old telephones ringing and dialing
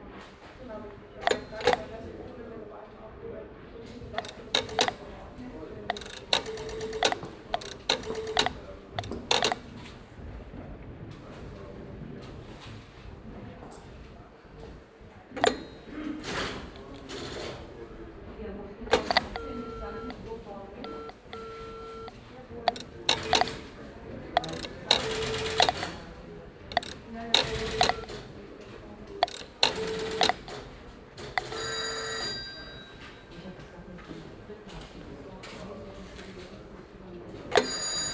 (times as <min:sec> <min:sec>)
0:00.9 0:02.4, 0:03.9 0:10.0, 0:15.3 0:18.1, 0:18.8 0:33.7, 0:37.4 0:38.1